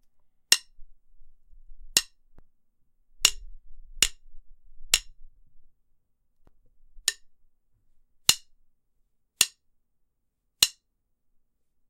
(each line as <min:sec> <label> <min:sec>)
0:00.5 smacking sticks 0:00.7
0:08.3 smacking sticks 0:08.5
0:10.6 smacking sticks 0:10.8